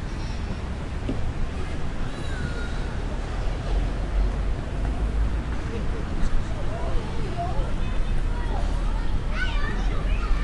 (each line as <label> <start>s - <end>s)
cars 0.0s - 10.4s
children playing, shouting 5.8s - 10.4s